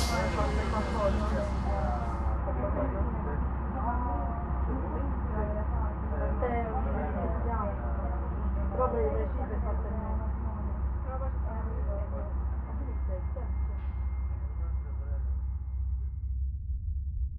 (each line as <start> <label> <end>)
0.0 Train 15.4